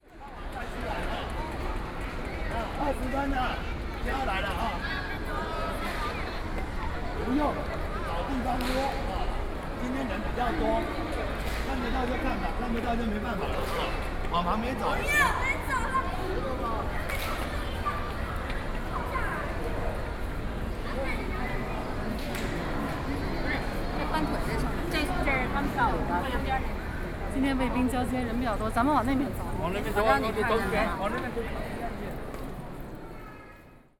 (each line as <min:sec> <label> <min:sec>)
0:00.0 Tour groups and tourists 0:33.9